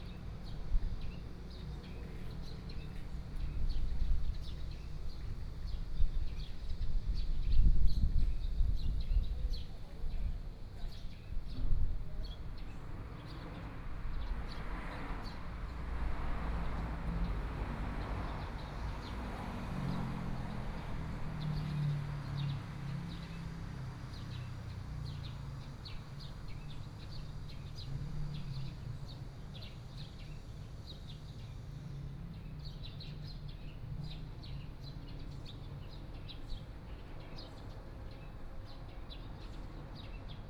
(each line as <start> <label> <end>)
0.0 Birdsong sound 40.4
12.1 Traffic Sound 40.4